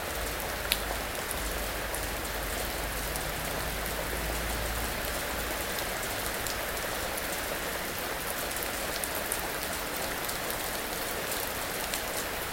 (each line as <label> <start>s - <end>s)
heavy rain on leaves, terrace, metal table 0.0s - 12.5s